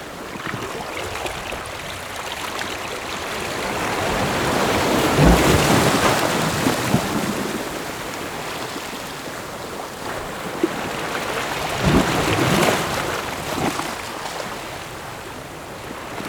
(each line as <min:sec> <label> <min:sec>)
0:00.0 waves 0:16.2